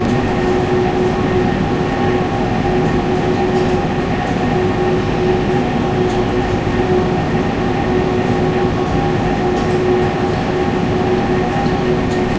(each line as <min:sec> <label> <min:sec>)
0:00.0 industrial refrigeration unit 0:12.3